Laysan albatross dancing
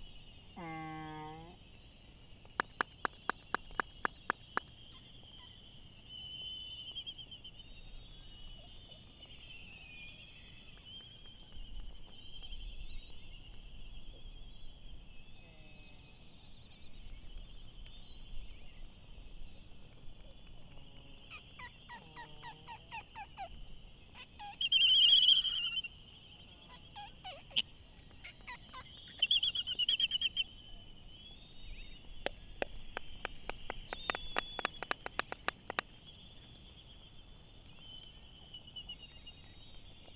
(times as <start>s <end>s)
2.6s 4.6s, 32.2s 35.9s